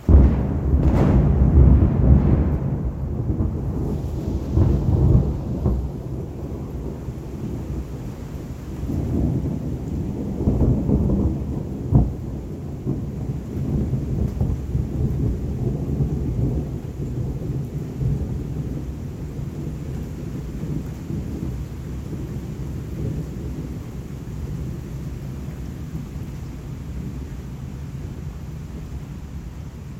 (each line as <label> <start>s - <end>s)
big lightning strike, thunder booms and rumbles 0.0s - 24.8s